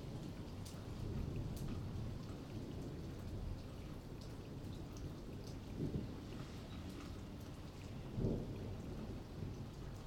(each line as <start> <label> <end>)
0.0 rain 10.0
8.1 thunder 9.2